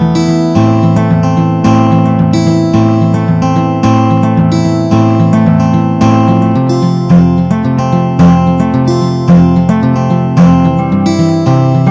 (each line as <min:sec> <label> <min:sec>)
0:00.0 Chirpy guitar 0:11.9
0:10.7 cello 0:11.9